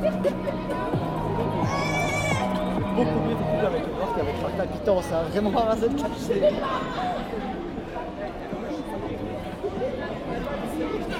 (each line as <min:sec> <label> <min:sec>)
0:00.0 Drunk people 0:04.8